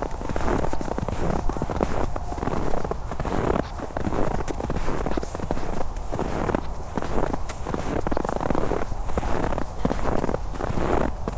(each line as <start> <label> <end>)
0.0 steps in the snow 11.3